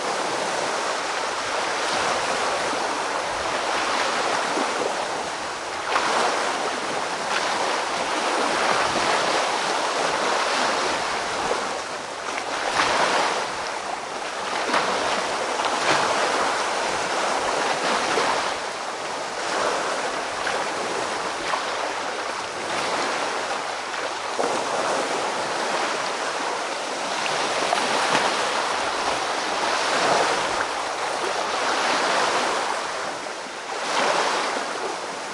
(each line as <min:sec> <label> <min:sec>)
0:00.0 waves splashing on the shore 0:35.3